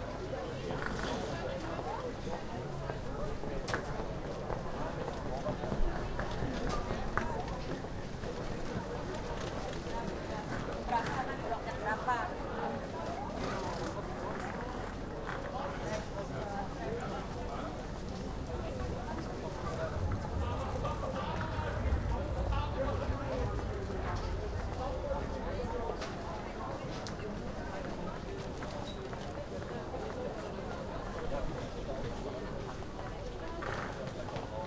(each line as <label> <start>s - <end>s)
People passing by, talking 0.0s - 34.6s